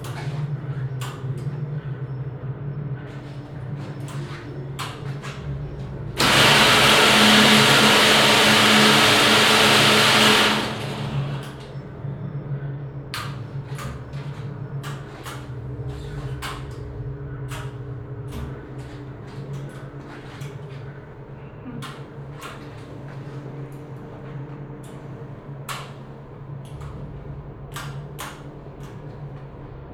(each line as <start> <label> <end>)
3.0 other machines 29.9
6.2 small motors that start to move and rattle 11.6